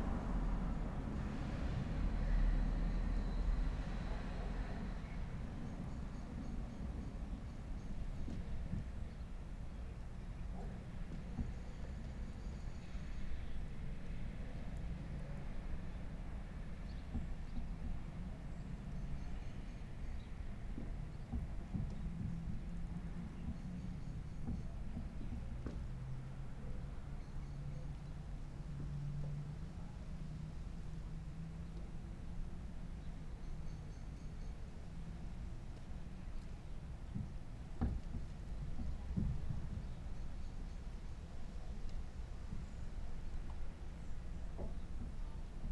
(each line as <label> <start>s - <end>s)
light rain 34.7s - 45.7s